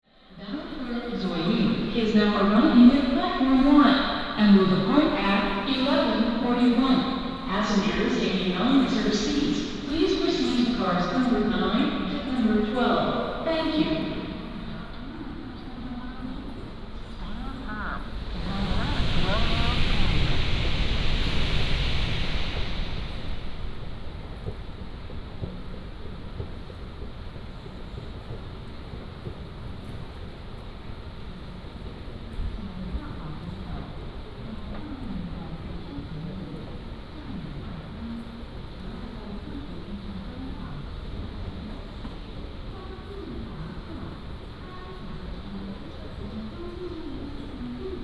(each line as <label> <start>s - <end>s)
Station Message Broadcast 4.7s - 14.0s
Escalator 17.0s - 26.8s